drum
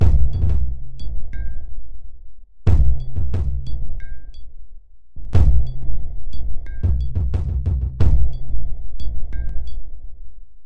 0.0 1.2, 2.7 3.9, 5.4 9.8

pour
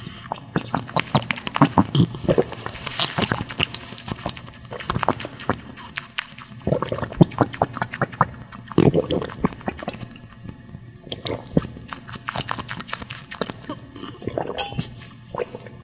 8.8 15.8

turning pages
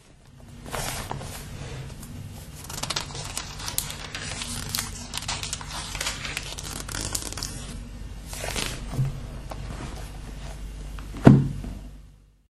0.6 10.5

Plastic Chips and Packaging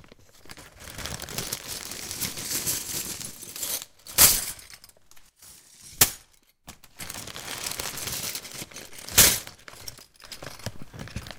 0.2 4.0, 6.8 11.3

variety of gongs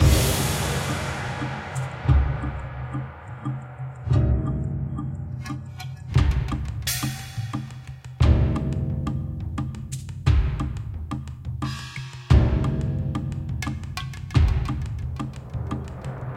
0.0 4.6

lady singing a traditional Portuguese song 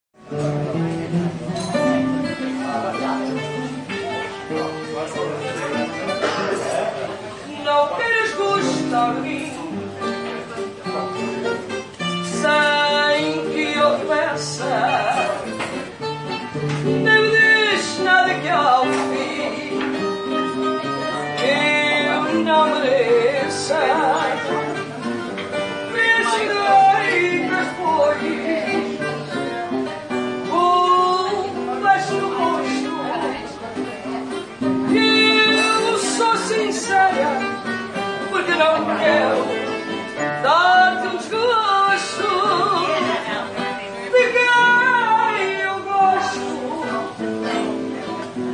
7.5 9.9, 12.2 15.5, 16.8 20.3, 21.2 24.6, 25.8 29.1, 30.4 33.6, 34.9 48.2

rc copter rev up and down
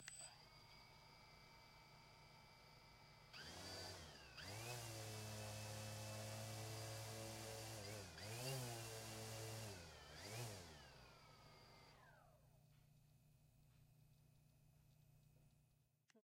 0.0 12.4

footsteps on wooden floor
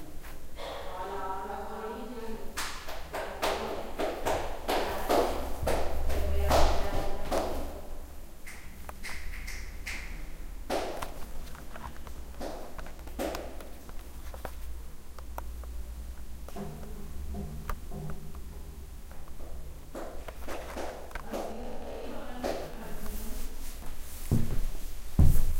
23.8 25.5

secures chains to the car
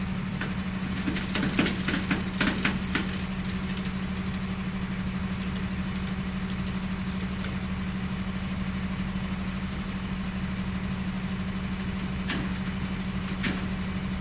0.9 4.6, 5.3 7.6

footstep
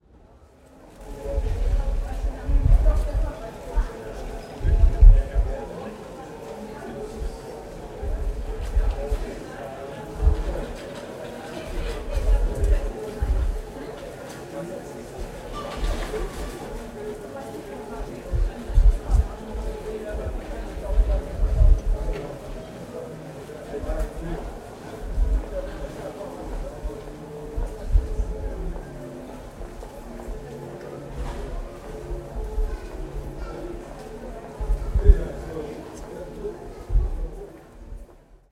11.7 13.7, 18.0 22.3, 23.8 35.5

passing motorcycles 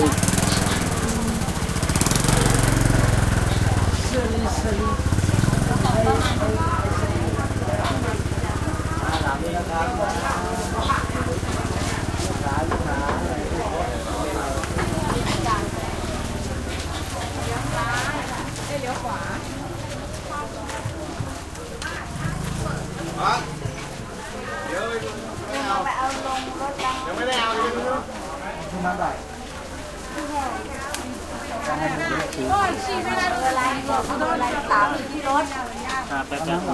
0.0 26.0

